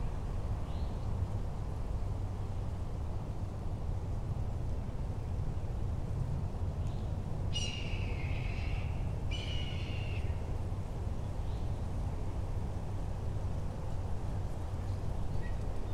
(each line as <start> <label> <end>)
0.0 noises from the nearby houses 15.9